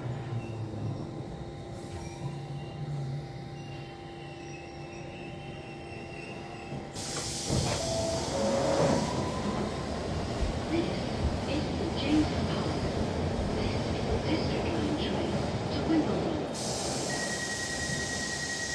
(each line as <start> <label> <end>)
0.0 train action 18.7
7.0 hiss 9.3
16.6 hiss 18.7